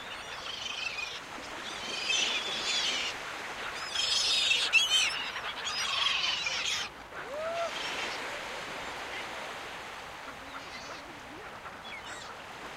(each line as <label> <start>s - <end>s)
waves 0.0s - 12.7s
seagulls 0.1s - 9.4s